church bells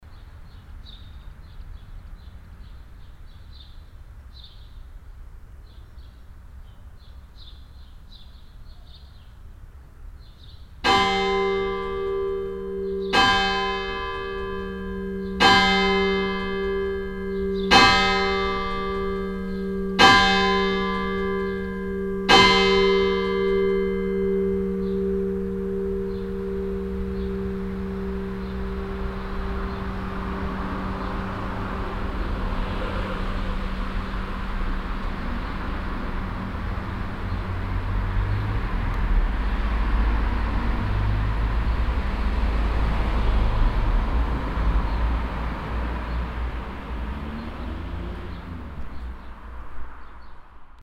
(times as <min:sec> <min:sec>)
0:10.8 0:38.6, 0:39.8 0:49.3